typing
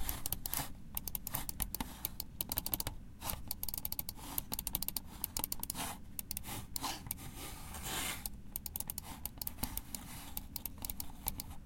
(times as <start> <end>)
2.4 2.9, 3.5 6.4, 8.6 11.5